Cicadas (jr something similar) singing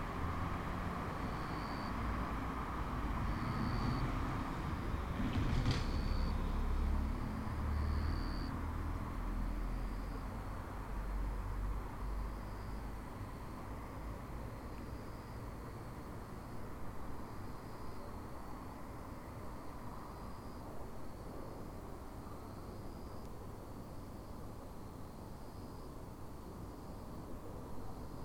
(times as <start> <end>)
0.4 4.9, 5.9 18.8